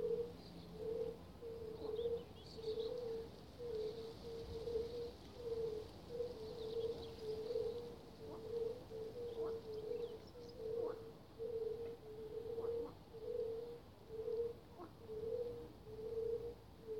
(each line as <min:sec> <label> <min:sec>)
0:00.0 birds singing 0:16.9
0:00.0 frogs croaking 0:16.9